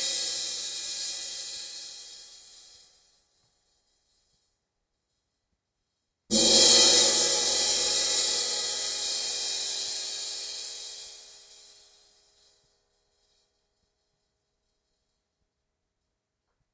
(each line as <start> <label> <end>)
0.0 Ride cymbal with rivets 4.6
6.3 sizzling sound 11.6
6.3 Ride cymbal with rivets 15.2